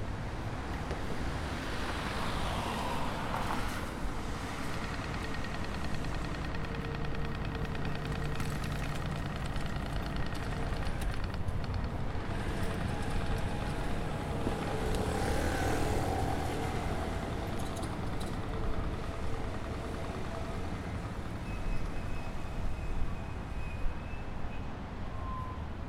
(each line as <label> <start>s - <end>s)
traffic 0.0s - 25.8s
wind 0.0s - 25.8s